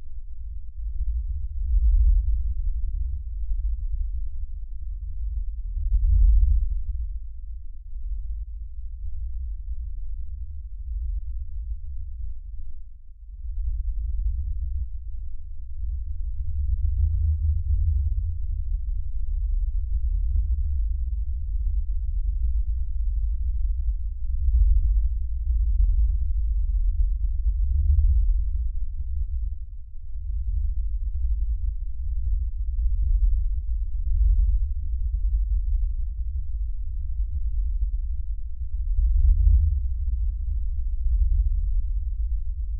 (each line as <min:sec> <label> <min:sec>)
0:00.0 Bass Rumble In The Distance 0:42.7